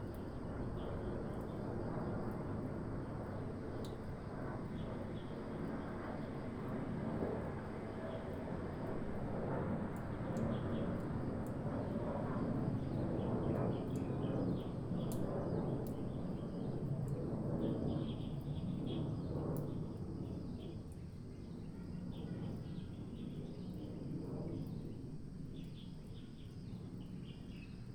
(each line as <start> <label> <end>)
0.0 aircraft 27.9